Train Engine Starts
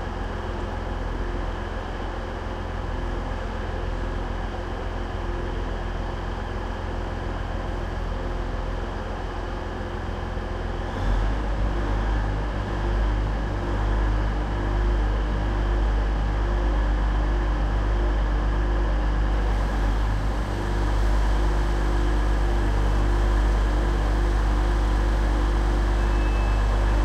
21.7 27.0

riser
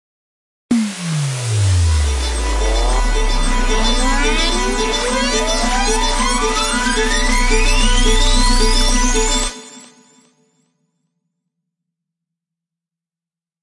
0.7 9.8

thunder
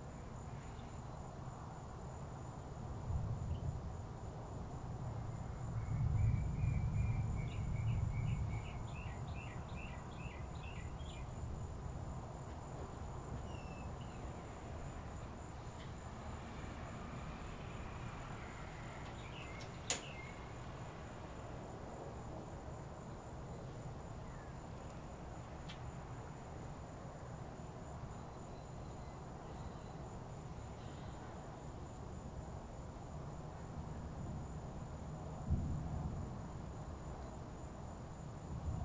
5.1 9.0, 35.4 36.6

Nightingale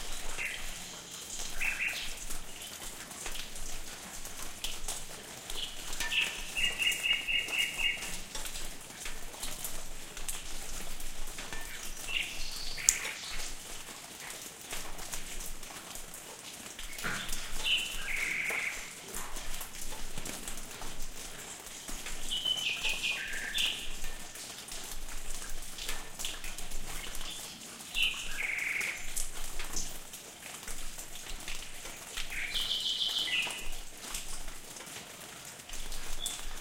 5.5 8.4, 11.5 13.8, 16.9 19.0, 21.8 24.3

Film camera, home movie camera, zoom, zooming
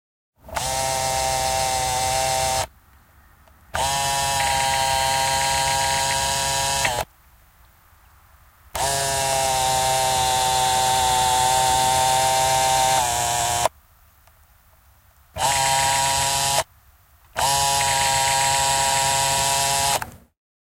0.4 2.7, 3.7 7.1, 8.8 13.7, 15.4 16.7, 17.3 20.3

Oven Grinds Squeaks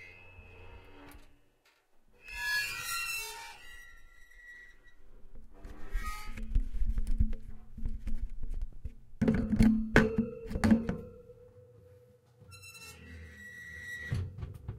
0.0 1.5, 2.2 5.1, 12.5 14.4

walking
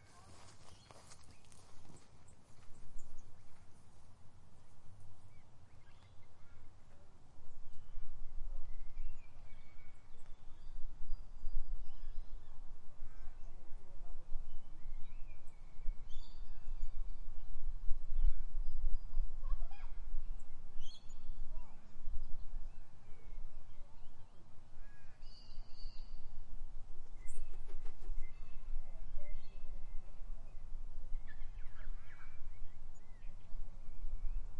0.0 2.9

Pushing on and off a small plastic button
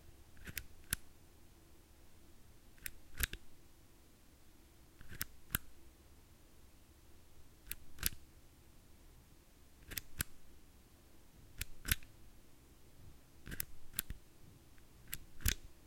13.5 14.2

